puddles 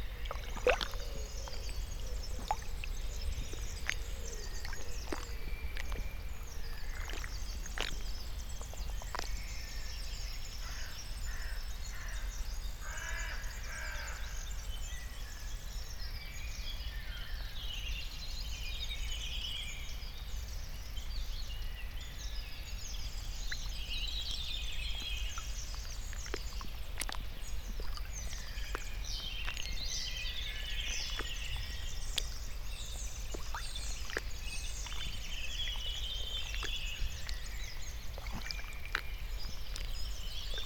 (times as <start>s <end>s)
0.0s 9.9s, 24.9s 40.6s